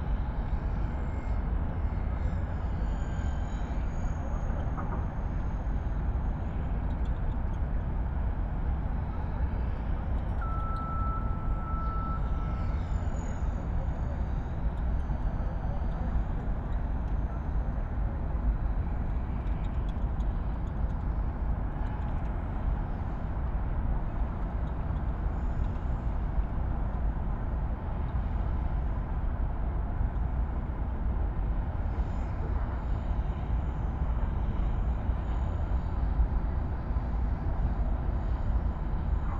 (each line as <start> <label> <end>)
0.0 city drones 39.3